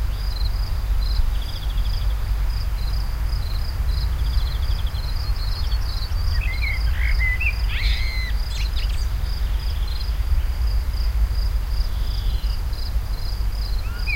0.0s crickets 14.1s
2.8s bird song1 10.6s
11.9s bird song1 14.1s

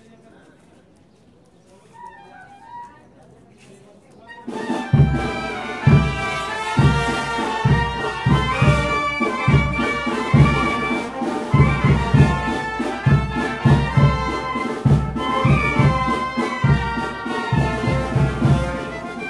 4.3s band 19.2s

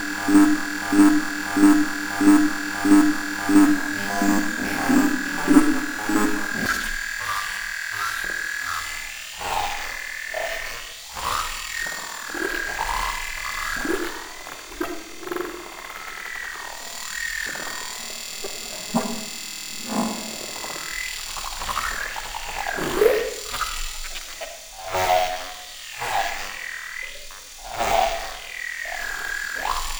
0.0s Drone 7.0s
0.0s Buzz 8.8s
0.0s Glitch 6.8s
17.0s Buzz 22.2s

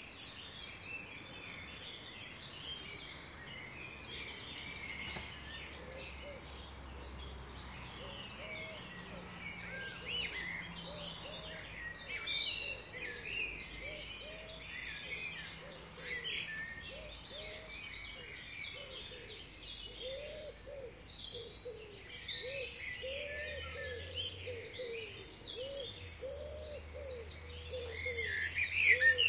0.0s birdsong 29.2s
2.5s distant traffic sounds 29.2s

